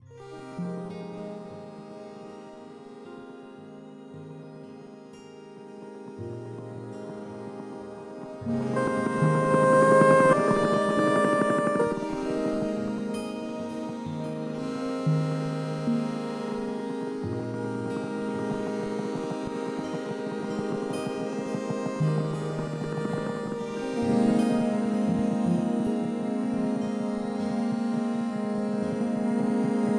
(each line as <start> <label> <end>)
6.3 drone 29.9